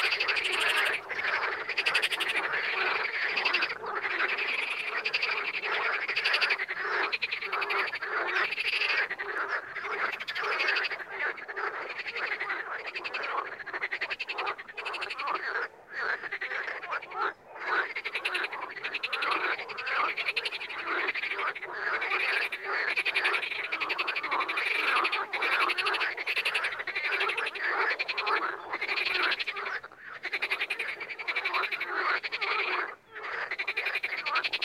birds 0.0 - 34.6
screaming frogs and toads 0.0 - 34.6

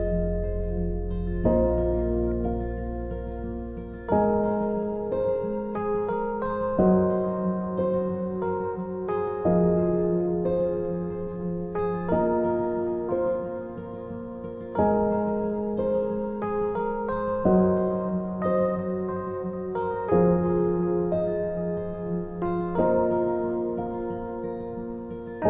Bass 0.0 - 5.8
Guitar 0.0 - 25.4
Piano 0.0 - 25.4

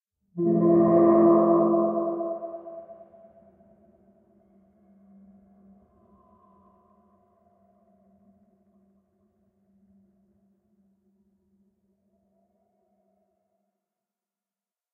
Death Horn 0.4 - 3.0

